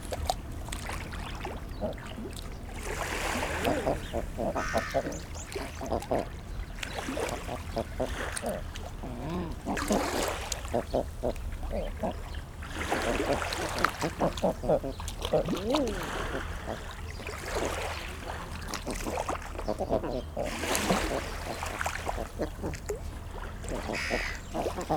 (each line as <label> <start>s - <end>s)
black-headed gulls 3.5s - 6.2s
calls from herring gulls 3.5s - 5.6s
black-headed gulls 23.7s - 24.9s
calls from herring gulls 23.7s - 24.9s